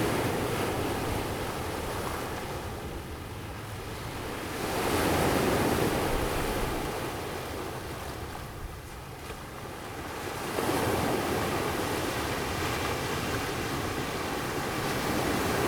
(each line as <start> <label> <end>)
0.0 the waves 15.6